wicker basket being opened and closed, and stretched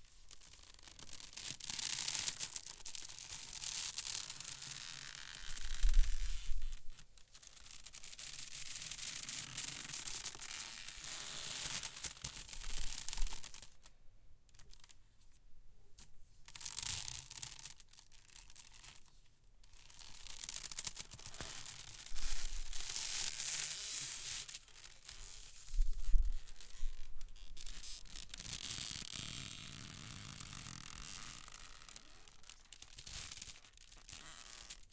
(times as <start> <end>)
3.7 13.8, 19.7 34.9